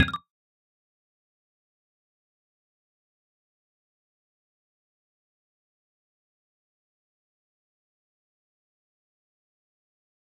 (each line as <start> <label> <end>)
0.0 UI sfx 0.2